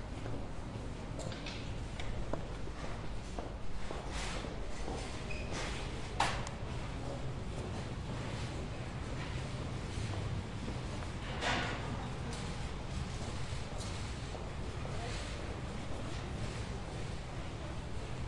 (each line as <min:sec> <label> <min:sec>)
0:00.0 Walking through the shop 0:18.2